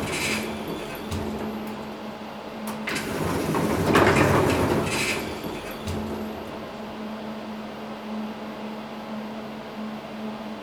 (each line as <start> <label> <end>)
0.0 elevator door broken down 2.0
2.7 elevator door broken down 7.0